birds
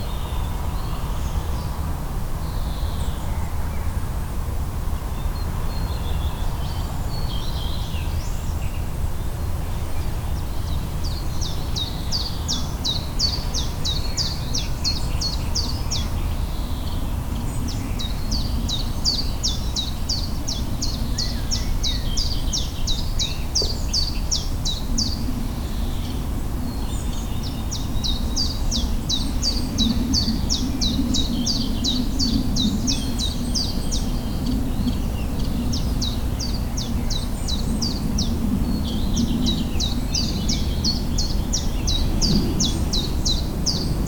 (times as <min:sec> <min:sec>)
0:09.8 0:44.0